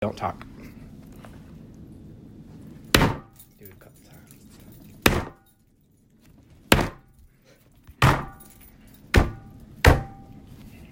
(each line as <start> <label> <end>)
8.0 slamming his fist on a wooden table 8.4
9.2 slamming his fist on a wooden table 10.2